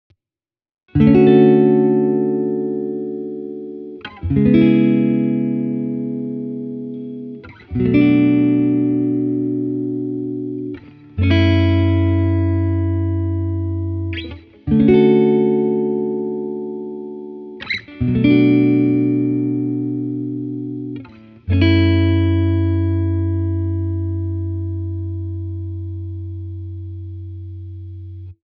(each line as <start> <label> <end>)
0.9 jazzy chords on my guitar 28.4